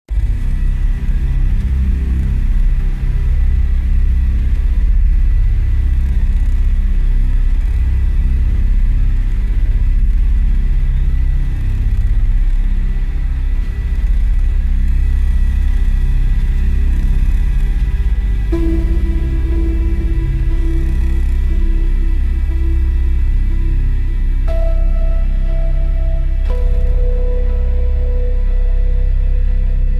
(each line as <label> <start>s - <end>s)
instrumental 17.6s - 29.9s